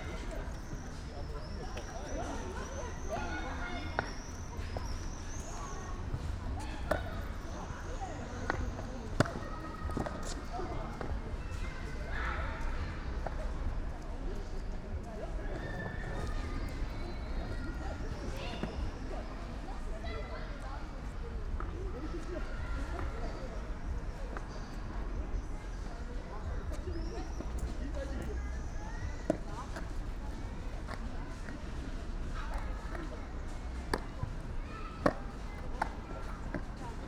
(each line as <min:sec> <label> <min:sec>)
0:00.0 youngsters playing streetball 0:37.0
0:29.2 girl practising skateboard 0:37.0